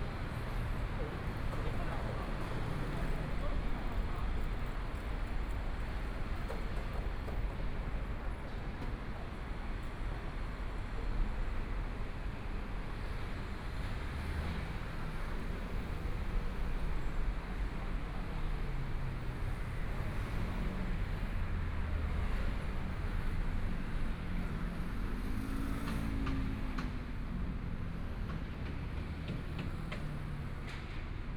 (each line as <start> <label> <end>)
13.5 Traffic Sound 31.3
17.4 Construction site sounds 31.3